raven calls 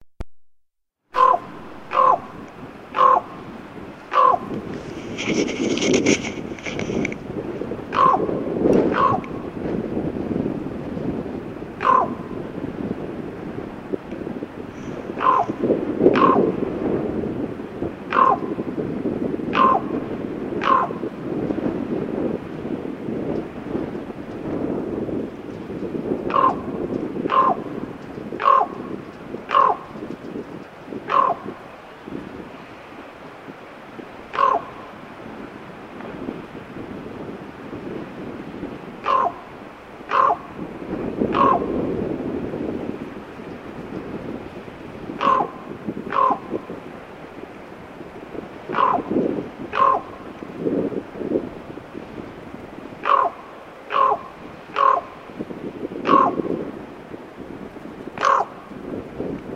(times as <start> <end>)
1.2 7.0, 7.9 9.5, 11.8 12.3, 15.0 16.5, 18.1 18.6, 19.5 20.0, 20.6 21.1, 26.2 30.0, 31.0 31.6, 34.3 35.0, 39.0 41.8, 45.2 46.8, 48.7 50.3, 53.0 55.2, 56.0 56.5, 58.2 58.6